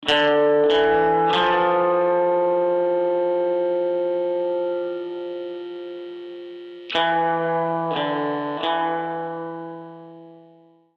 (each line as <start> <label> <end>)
0.0 twangy electric guitar 10.7